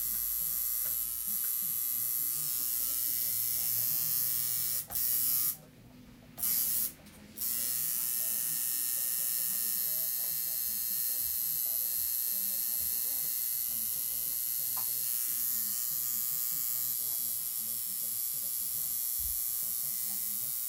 Tattoo Gun 0.0 - 5.6
Tattoo Gun 6.4 - 20.6

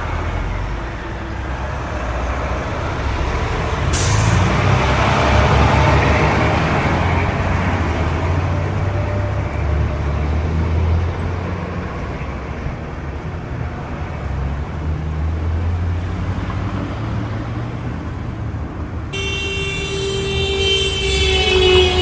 Trucks And Cars 0.0 - 22.0

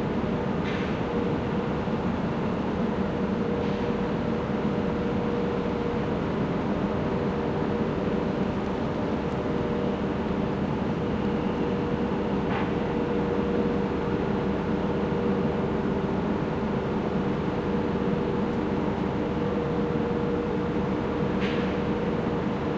flour milling factory 0.0 - 22.7

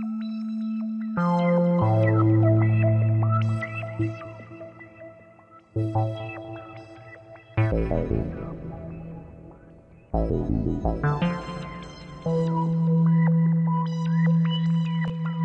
synth 5.8 - 15.4

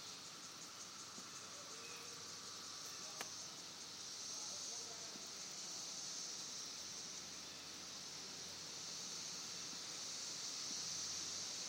Cicadas 0.0 - 11.6

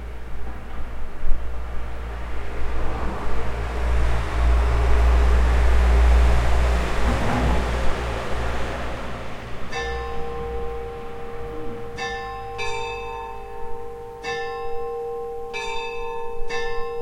car drives by 0.1 - 14.0
churchbells 8.5 - 17.0

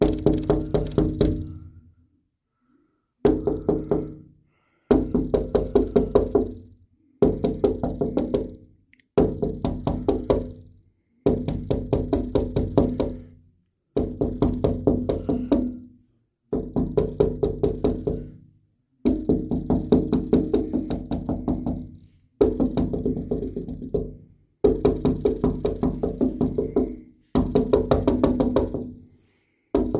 Knocking on a glass window 0.0 - 1.6
Knocking on a glass window 3.3 - 4.2
Knocking on a glass window 4.9 - 6.6
Knocking on a glass window 7.2 - 8.6
Knocking on a glass window 9.2 - 10.6
Knocking on a glass window 11.3 - 13.2
Knocking on a glass window 14.0 - 15.8
Knocking on a glass window 16.5 - 18.3
Knocking on a glass window 19.1 - 29.0
Knocking on a glass window 29.8 - 29.9

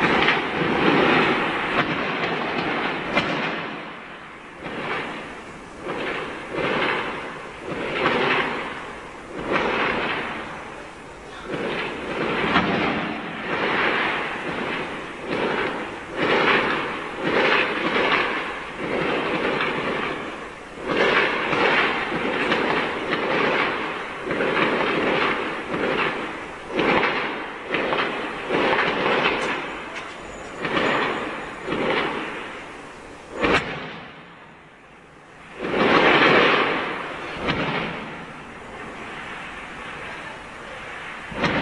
fireworks 0.0 - 41.6

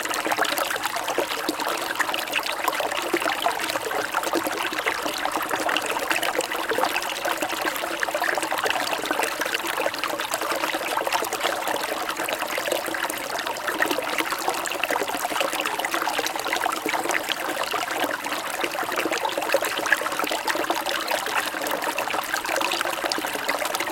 stream 0.0 - 23.9

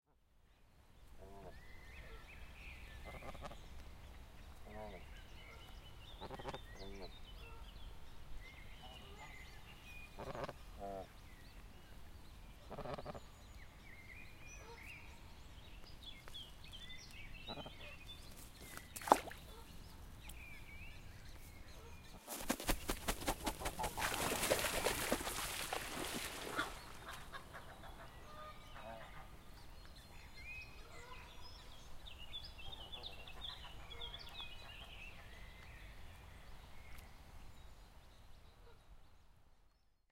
snow goose 10.2 - 11.0
snow goose 12.7 - 13.2
jumping into the water 18.8 - 19.4
jumping into the water 23.8 - 27.0

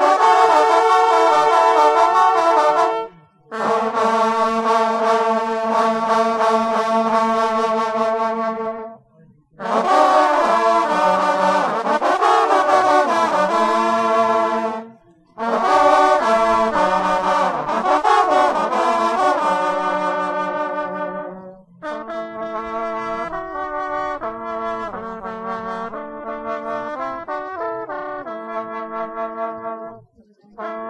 Hunting horn players 0.0 - 30.8

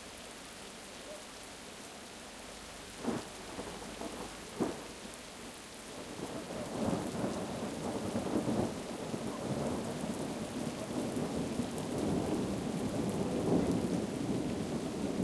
rain 0.0 - 15.2
wind 0.0 - 15.2
thunder 6.6 - 15.2

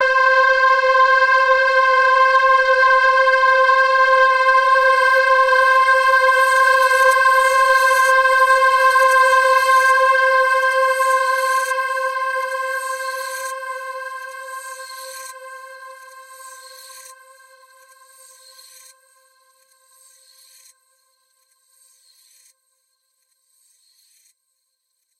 multi-sampled synth pad 0.0 - 18.7

